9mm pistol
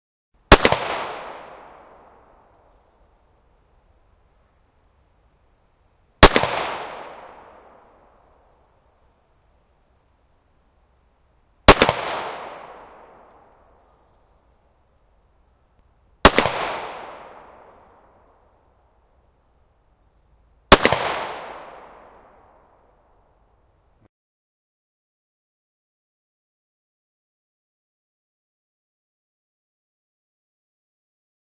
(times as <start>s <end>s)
0.5s 2.9s, 6.2s 8.3s, 11.7s 14.3s, 16.2s 18.4s, 20.7s 22.6s